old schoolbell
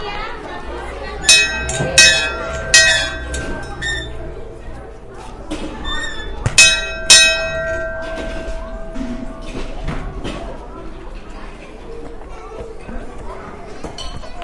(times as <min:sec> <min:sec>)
0:01.2 0:10.4